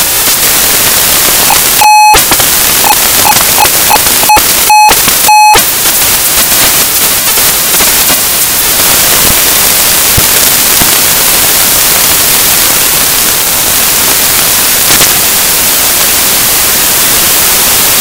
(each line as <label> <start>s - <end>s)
live modular jamb 1.4s - 5.7s